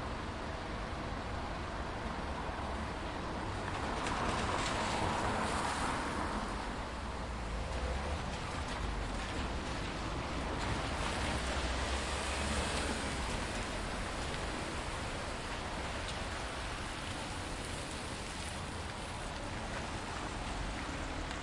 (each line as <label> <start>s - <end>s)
Light rain 0.0s - 21.4s
cars passing by 0.0s - 21.4s
motors humming from vehicles 2.2s - 21.4s